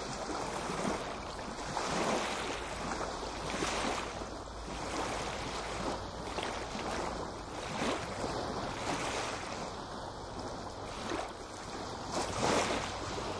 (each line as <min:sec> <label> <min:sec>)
0:00.0 waves 0:13.3